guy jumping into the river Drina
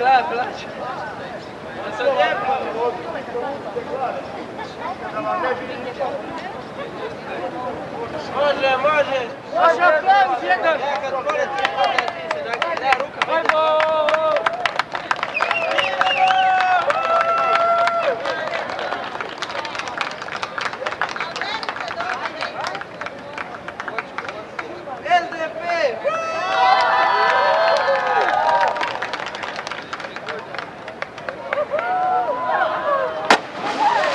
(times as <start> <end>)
33.2 34.1